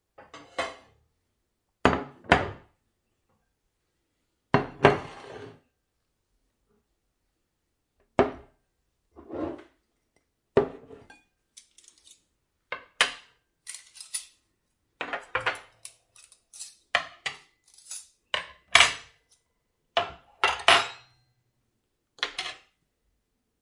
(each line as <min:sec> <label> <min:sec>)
0:00.1 Setting Table 0:01.1
0:01.8 Setting Table 0:03.6
0:04.5 Setting Table 0:05.9
0:08.0 Setting Table 0:21.4
0:22.1 Setting Table 0:22.8